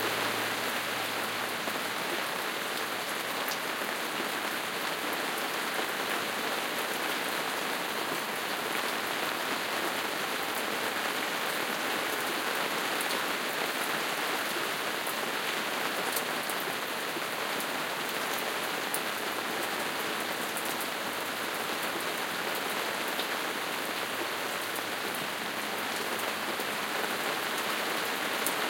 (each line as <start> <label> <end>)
0.0 rain hitting the gazebo roof 28.6